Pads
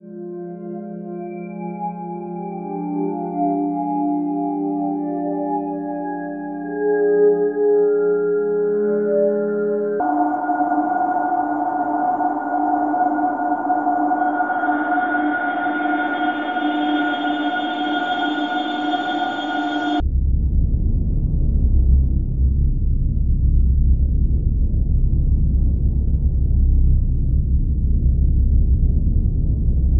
10.0s 20.0s

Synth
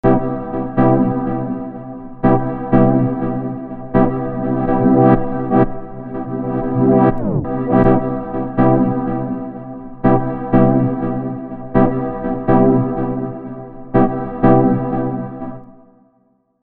2.3s 15.5s

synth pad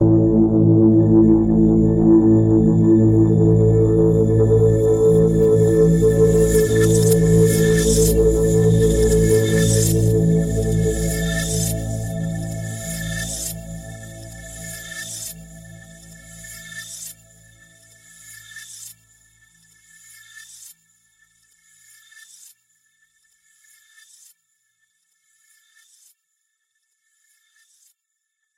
0.0s 17.5s

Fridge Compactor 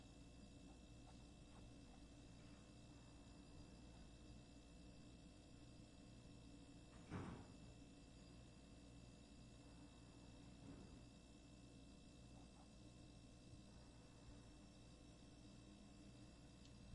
6.9s 7.6s

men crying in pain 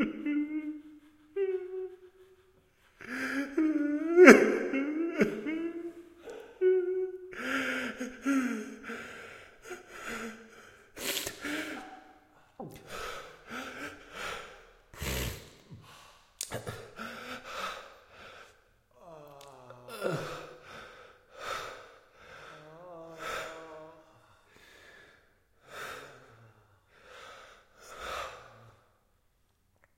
0.0s 9.0s, 19.0s 20.7s

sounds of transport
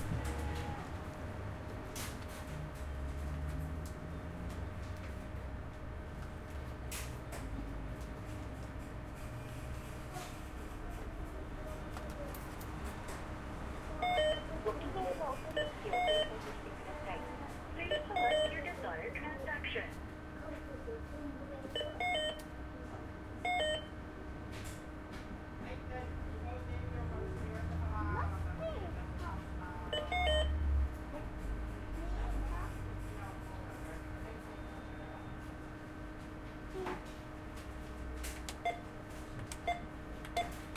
15.2s 20.4s

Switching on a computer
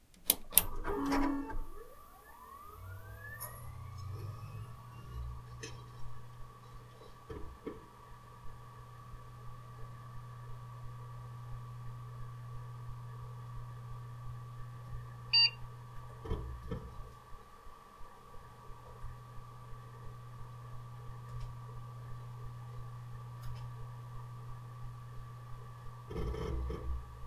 0.1s 5.8s

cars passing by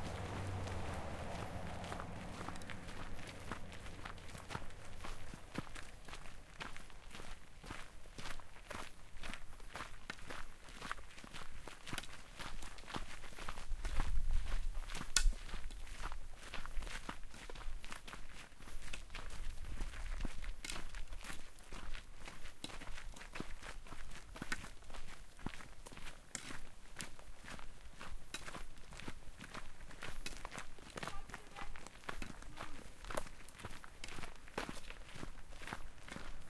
0.0s 6.6s, 28.6s 36.4s

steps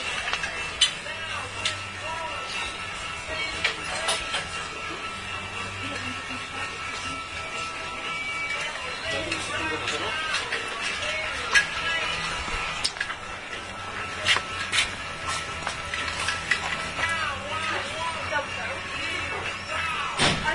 5.9s 19.8s

